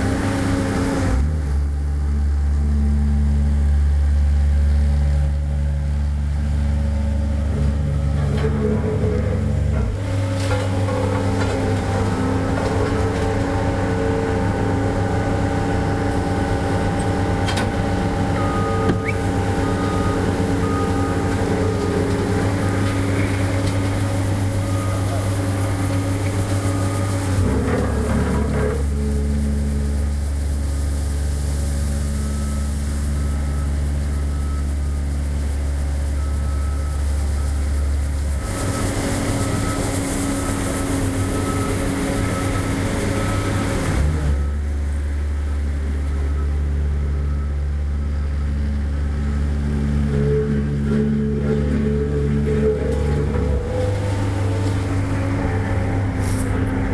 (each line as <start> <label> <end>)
0.0 Small paving roller, especially rich buzzing rattling growl roar 56.9
17.1 beeping 28.6